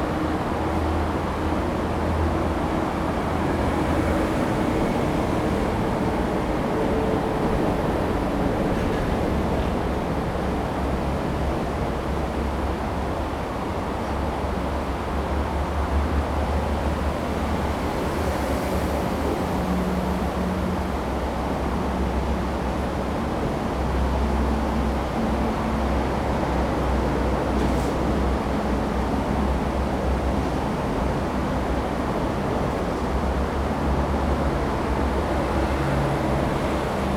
0.0s stream 37.1s
0.0s traffic sound 37.1s

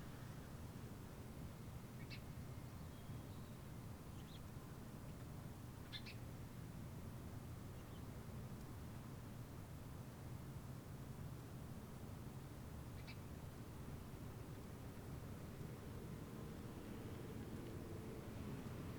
13.8s traffic 18.9s

